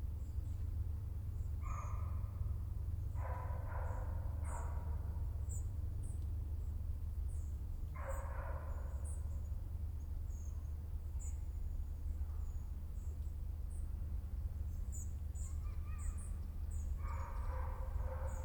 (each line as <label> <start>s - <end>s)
birds 14.7s - 18.4s